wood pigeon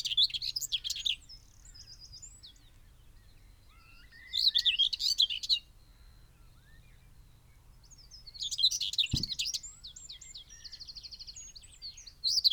9.0s 9.6s

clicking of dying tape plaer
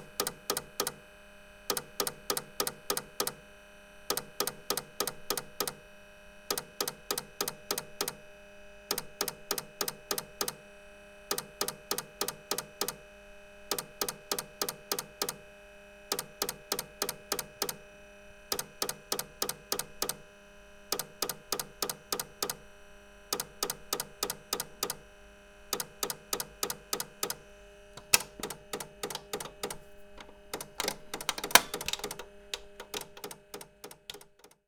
8.9s 10.6s, 23.4s 25.0s, 25.8s 27.4s, 28.0s 34.6s

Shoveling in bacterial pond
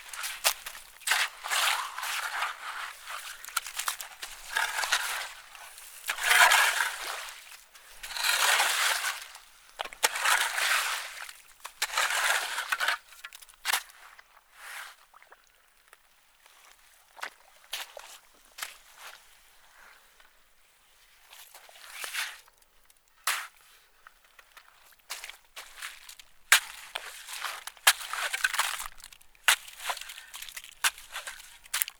0.0s 15.4s, 21.3s 22.5s, 23.2s 23.8s, 24.6s 31.9s

